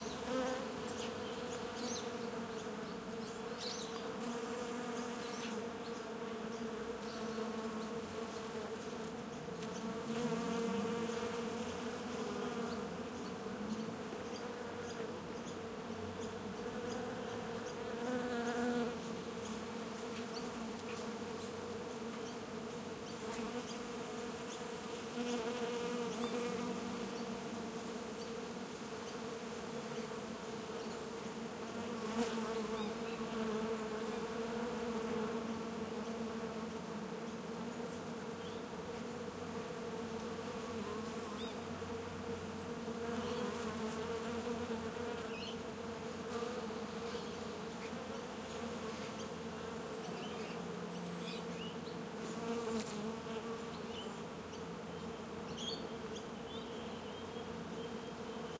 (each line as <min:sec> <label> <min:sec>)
0:00.0 bees 0:58.5
0:00.0 flies 0:58.5